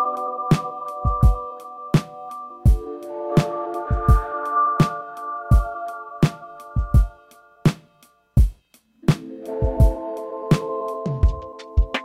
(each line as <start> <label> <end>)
0.0 synth 7.6
0.0 drum 12.0